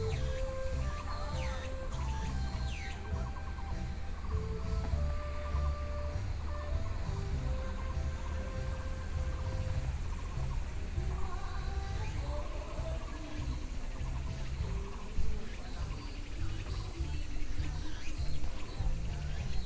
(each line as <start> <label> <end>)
0.0 birds song 19.6
0.0 walking in the Park 19.6